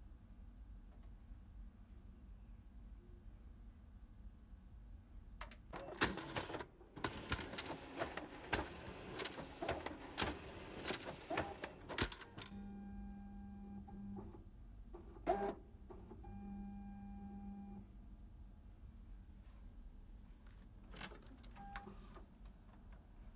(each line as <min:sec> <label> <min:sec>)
0:05.7 INDUSTRIAL COPY PRINTER 0:14.4
0:15.0 INDUSTRIAL COPY PRINTER 0:16.5
0:21.0 INDUSTRIAL COPY PRINTER 0:22.3